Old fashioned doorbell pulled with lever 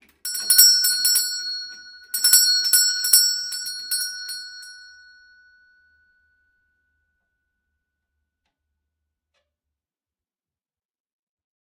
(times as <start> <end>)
0.2 4.9